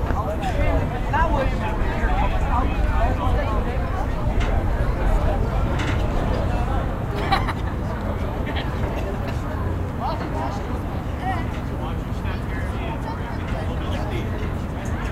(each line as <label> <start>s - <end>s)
Disembarking Riverboat Crowd 0.0s - 15.1s